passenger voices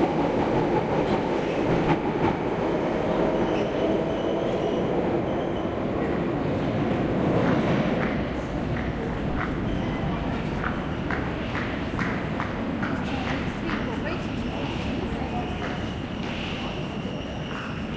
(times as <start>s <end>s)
5.8s 17.9s